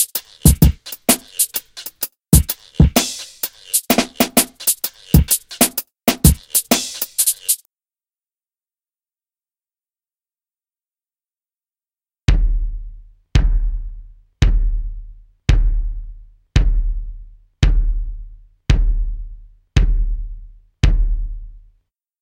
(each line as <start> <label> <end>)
0.0 drums 7.7
12.3 drums 21.7
12.3 Bass 21.9